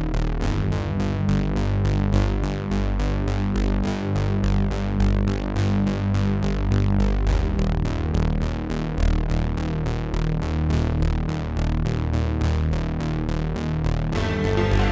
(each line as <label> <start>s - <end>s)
synth theme 14.2s - 14.9s